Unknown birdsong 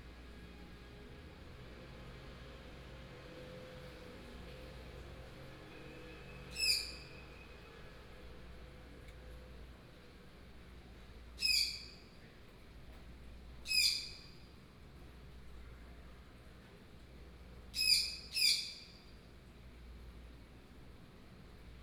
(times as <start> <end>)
6.5 7.4, 11.4 12.0, 13.7 14.4